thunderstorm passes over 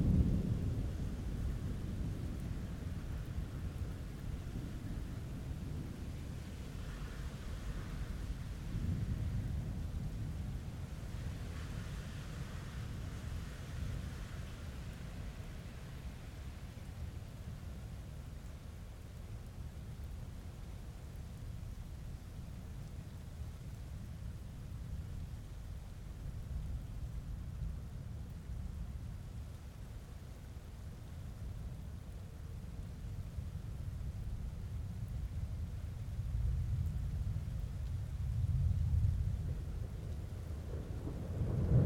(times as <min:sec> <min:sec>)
0:00.0 0:16.4, 0:34.0 0:41.8